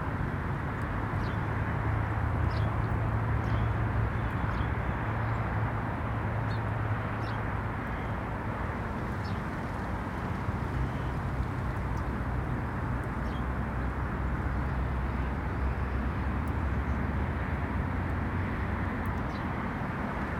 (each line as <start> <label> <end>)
2.4 blackbirds 5.5
6.4 blackbirds 17.0